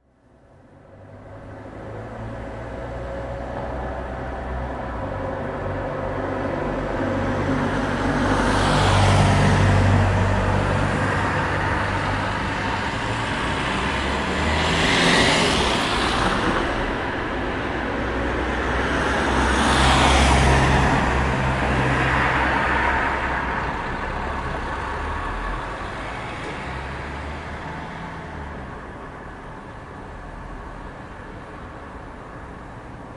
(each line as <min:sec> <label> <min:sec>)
0:00.0 car 0:33.1